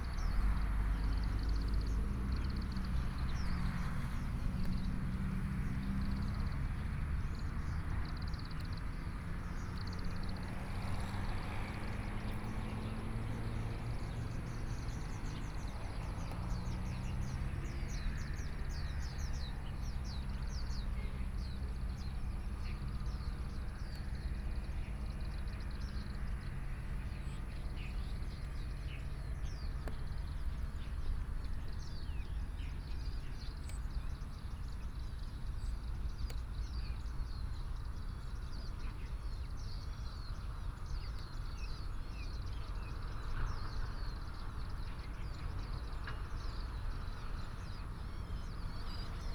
Birdsong 0.0 - 49.3
Traffic Sound 0.0 - 49.3

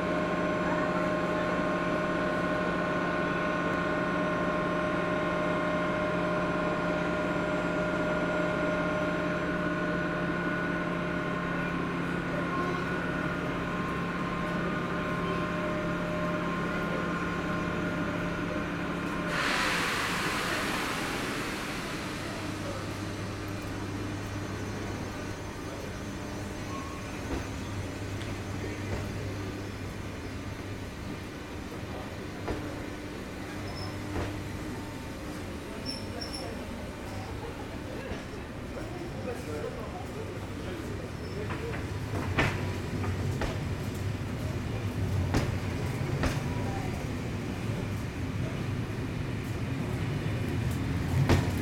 train passengers 0.0 - 51.6
train to Paris leaving Amiens 0.0 - 51.6
walking in the escalators 0.0 - 51.6

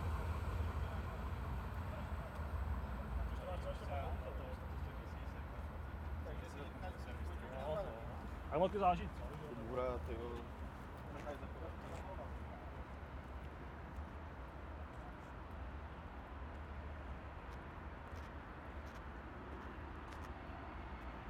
Close freight train on bridge 0.0 - 6.7
4 walkers pass by 0.0 - 21.2

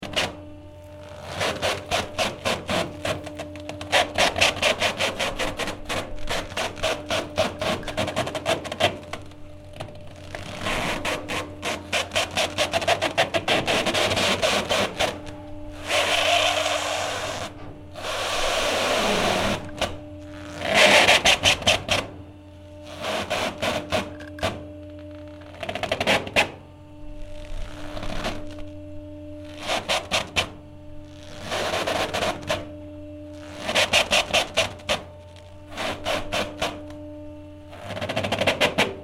Boat in harbour 0.0 - 39.0
drone/long note in the background 0.0 - 39.0

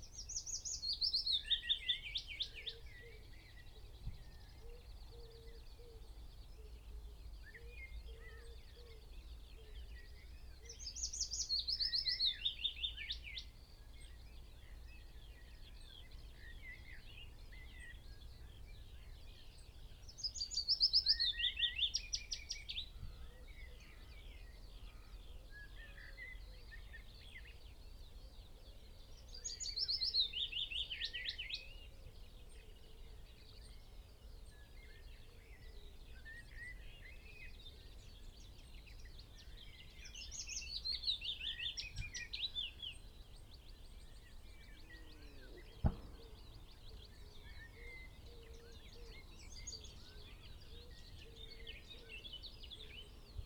background noise 0.0 - 53.4
blackbird 0.0 - 53.4
pheasant 0.0 - 53.4
willow warbler song 0.0 - 53.4
skylark 34.6 - 53.4
blackcap 45.5 - 48.1

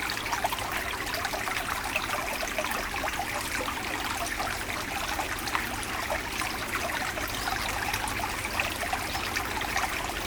small stream inside the woods 0.0 - 10.2

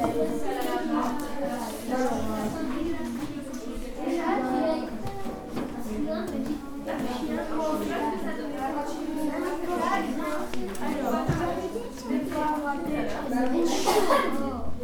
Pupils are working on their exposes 0.0 - 14.8

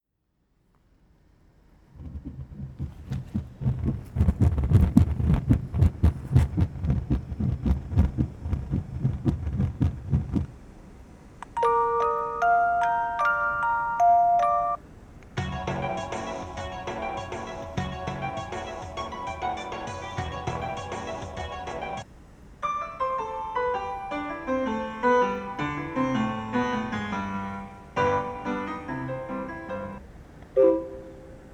pole with a touch sensitive pad that made various sounds 1.9 - 10.5
melodies 11.4 - 14.8
melodies 30.6 - 31.5

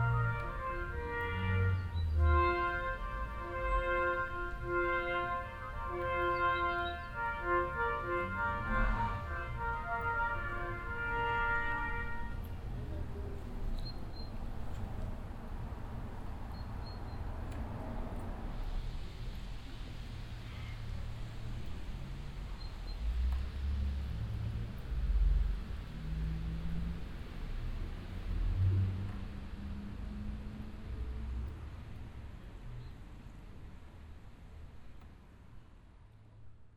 Walking up the cobblestone street 0.0 - 36.7

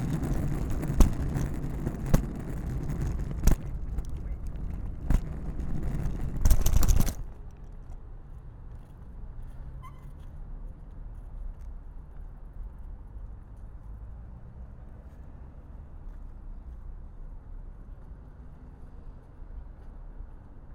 Luggage Bag Drag 0.0 - 7.4

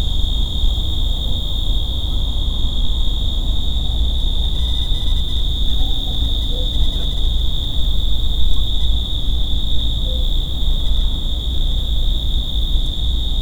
Urban noise 0.0 - 13.4
crickets 0.0 - 13.4
distant dogs 5.6 - 7.8

